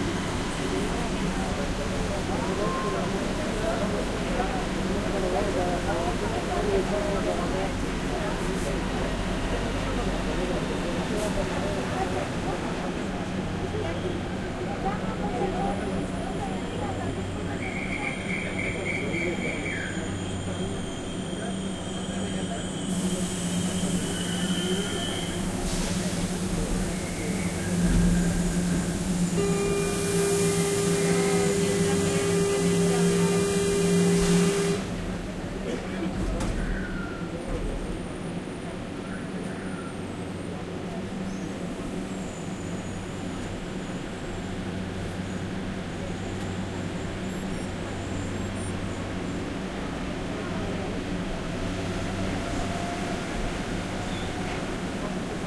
metro 0.0 - 55.4

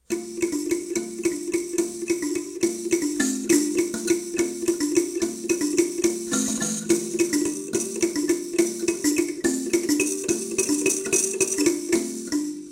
Playing an african kalimba 0.0 - 12.7

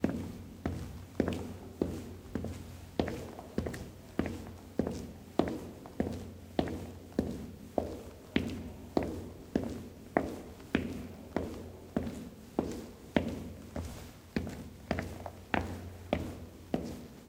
High sneakers on a stone floor with a nice large reverb 0.0 - 17.2

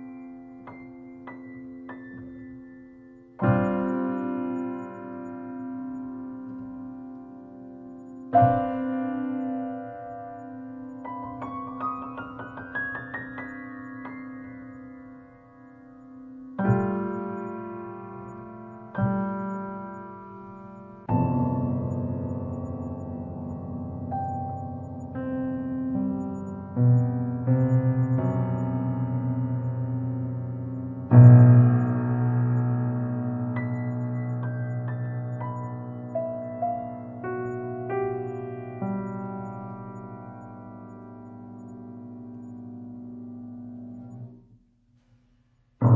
Piano Improvisation 0.0 - 44.4

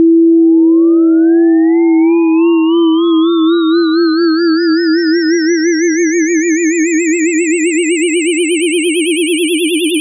tone 0.0 - 10.0

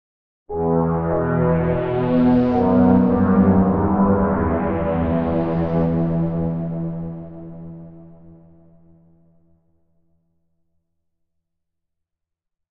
strings 0.5 - 8.3

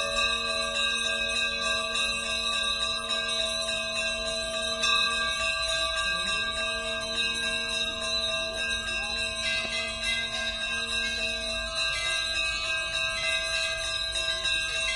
ringing dozens of bells 0.0 - 14.9
visitors walk round the temple 0.0 - 14.9

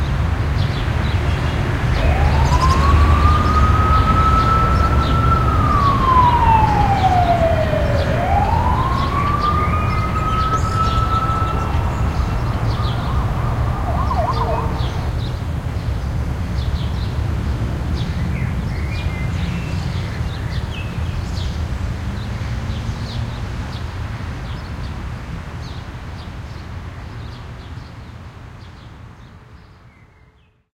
traffic 0.0 - 26.2
sirens passing a city park 1.6 - 15.7

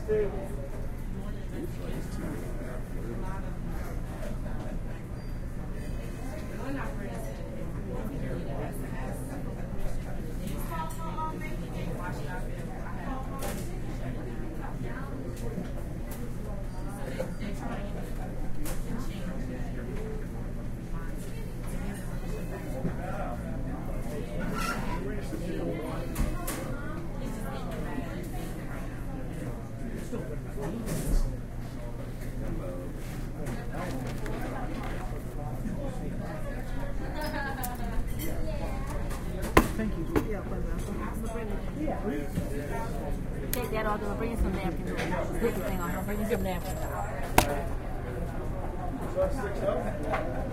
loud background of conversation 0.0 - 50.5
Customers can be heard entering and leaving 0.6 - 8.0
Customers can be heard entering and leaving 37.2 - 50.5

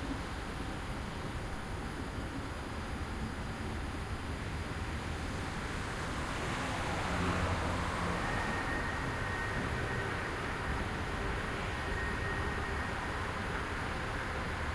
train in slow motion 4.7 - 14.7
cars passing by 6.0 - 11.8

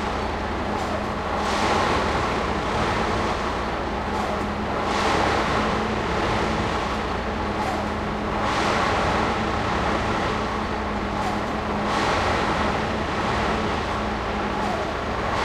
construction side train track bed 0.0 - 15.4

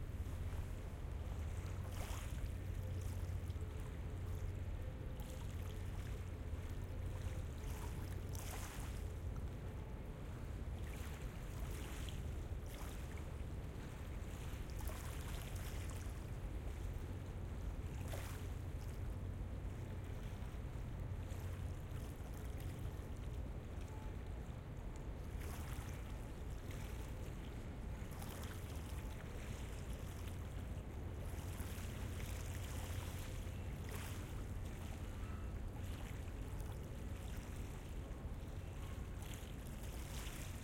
River Waves 0.0 - 40.6

